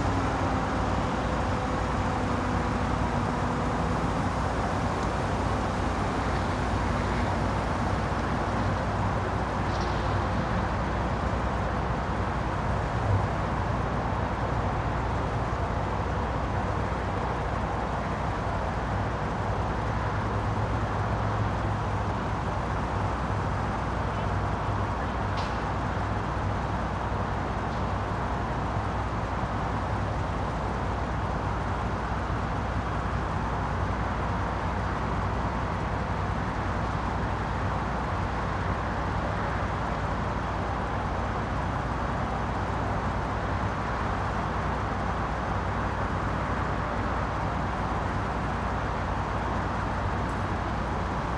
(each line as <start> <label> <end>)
0.0 highway 51.3